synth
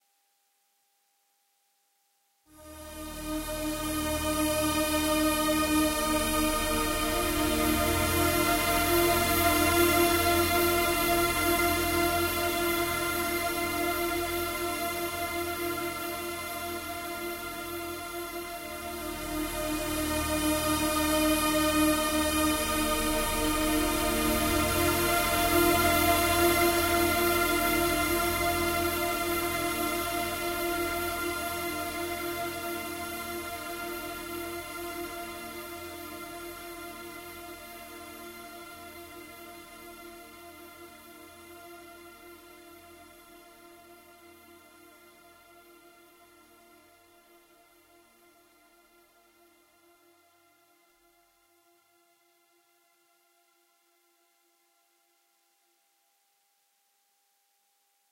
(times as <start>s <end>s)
2.6s 34.7s